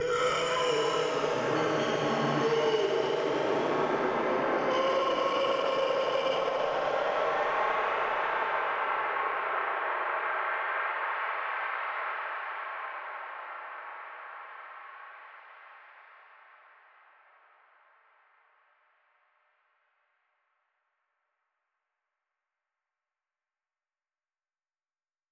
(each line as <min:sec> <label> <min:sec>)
0:00.0 inhaling creepily 0:08.3